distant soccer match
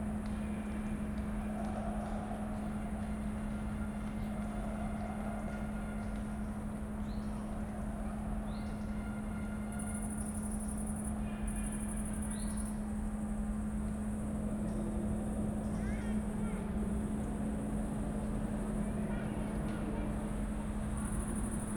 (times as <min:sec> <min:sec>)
0:00.0 0:10.4